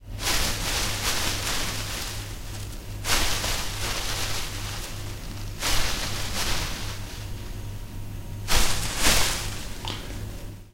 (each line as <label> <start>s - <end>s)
shrubbery 0.2s - 7.4s